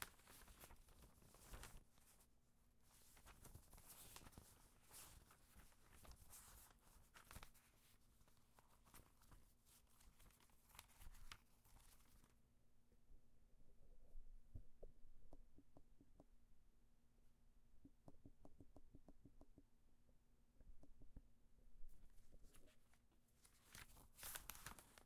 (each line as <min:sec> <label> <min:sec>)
0:00.0 flipping a few pages 0:12.4
0:22.0 flipping a few pages 0:25.0